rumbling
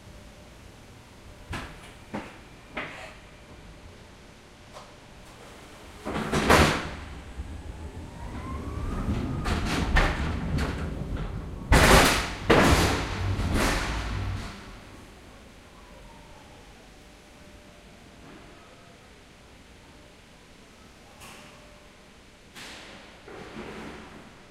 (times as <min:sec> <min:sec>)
0:06.1 0:15.2